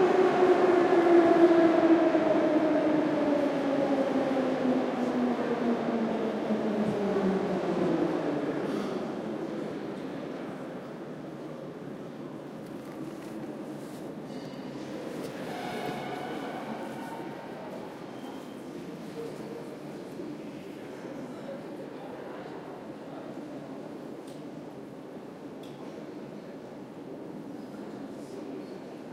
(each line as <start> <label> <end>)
0.0 Metro stopping and leaving the station 29.1
6.2 People talking 24.5